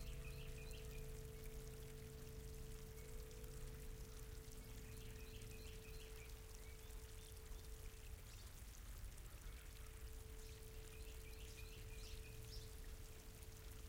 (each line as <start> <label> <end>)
0.0 Birds 13.8
0.0 Stream 13.8
0.0 Wind 13.8